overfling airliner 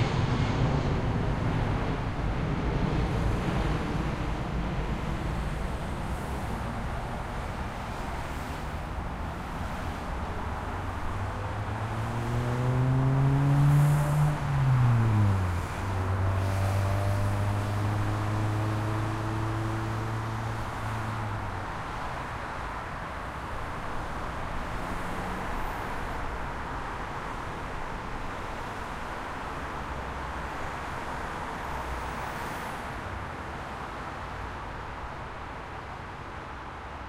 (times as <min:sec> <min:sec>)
0:00.0 0:06.3